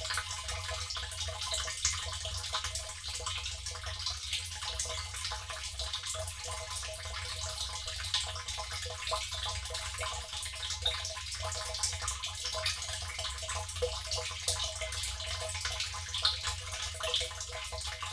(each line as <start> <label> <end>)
13.0 water butt filling 18.1